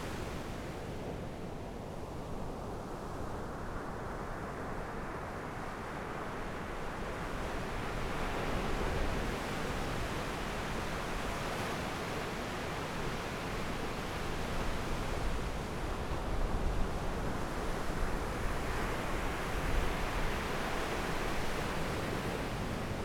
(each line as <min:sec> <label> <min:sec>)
0:05.3 waves 0:23.0